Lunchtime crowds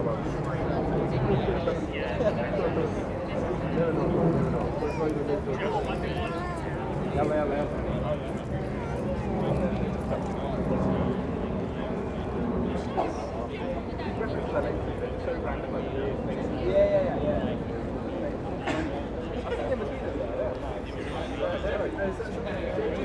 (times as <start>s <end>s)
0.0s 14.8s